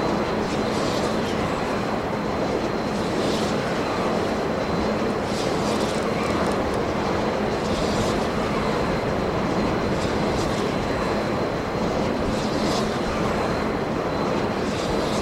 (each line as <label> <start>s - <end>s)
Large wind generators 0.0s - 15.2s